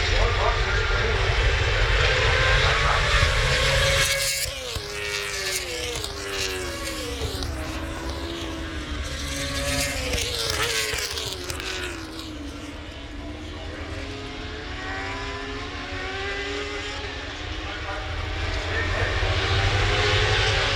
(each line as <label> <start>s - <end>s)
british motorcycle grand prix 0.0s - 20.7s